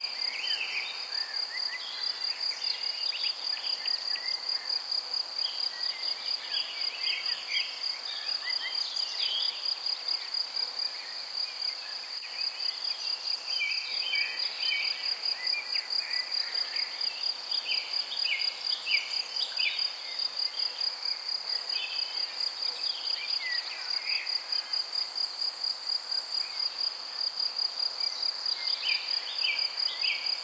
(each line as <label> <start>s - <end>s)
crickets 0.0s - 30.4s